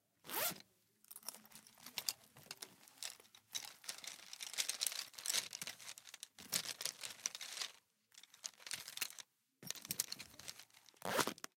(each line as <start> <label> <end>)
0.2 zipper 0.6
1.1 rustling of pencils inside the case 11.5
11.0 zipper 11.5